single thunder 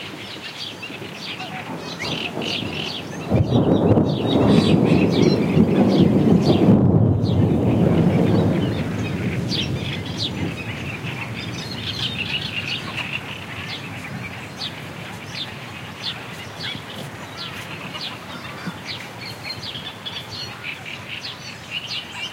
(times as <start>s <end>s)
1.0s 15.4s